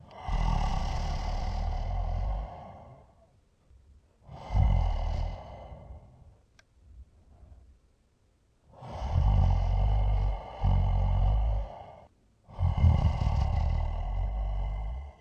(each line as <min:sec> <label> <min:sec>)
0:00.0 moan 0:03.3
0:04.3 moan 0:06.3
0:08.8 moan 0:15.2